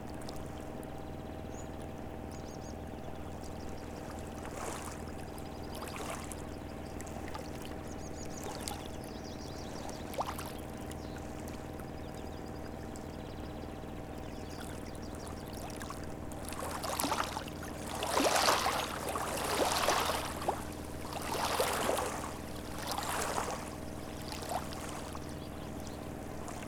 water gently touches the shoreline 0:00.0 - 0:26.6
ship passes by 0:14.6 - 0:26.6

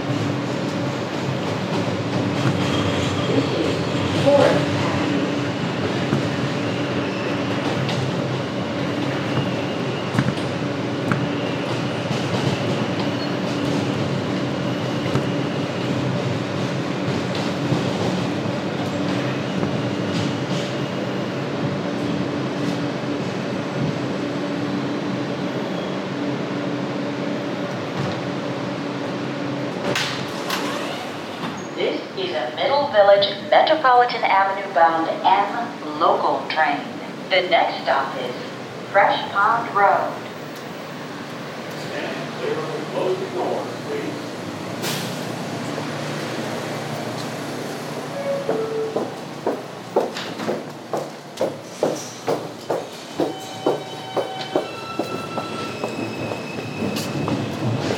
M Train 0:00.0 - 0:57.9
wind inside the M train 0:00.0 - 0:57.9
Train announcements 0:03.3 - 0:10.9
Train announcements 0:31.8 - 0:44.6
Train announcements 0:45.8 - 0:51.6
Train announcements 0:52.4 - 0:57.9

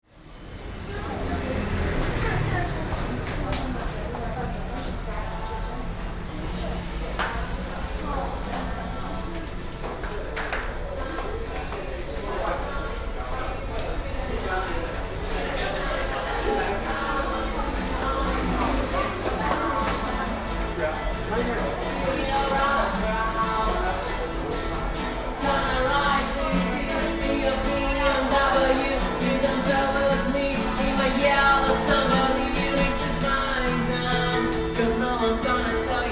Traffic Sound 0:00.0 - 0:36.1
Walking in the underpass 0:00.0 - 0:36.1

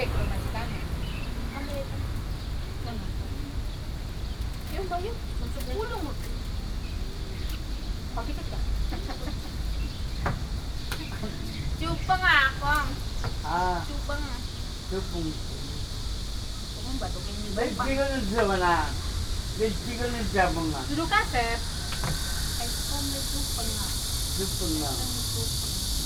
Chat 0:07.2 - 0:26.0

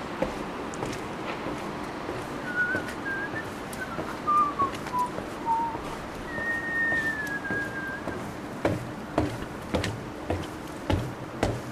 Wind 0:00.0 - 0:11.7
who whistles 0:02.4 - 0:08.3

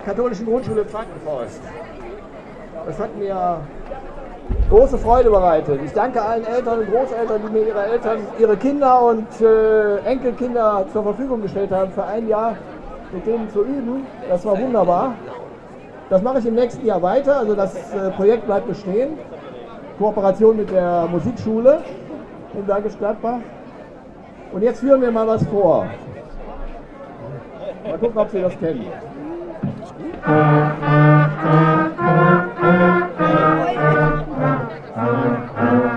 Blechbläserbande 0:29.3 - 0:35.9

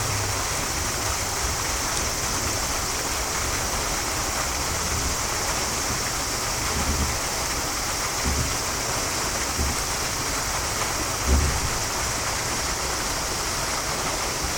old waterwheel 0:00.0 - 0:14.5

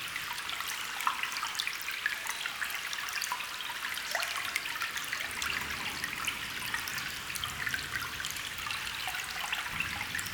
small waterstream 0:00.0 - 0:10.3

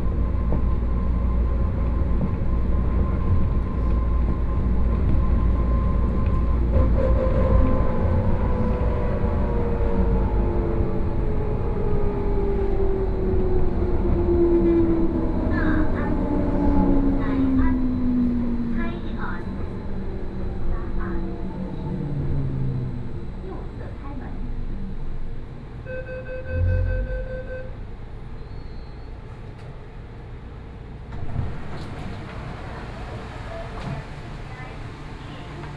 Wenshan Line (Taipei Metro) 0:00.0 - 0:35.7

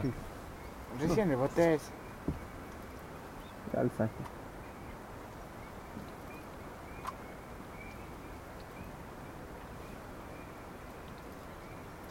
Fishermen at the dock 0:00.0 - 0:12.1

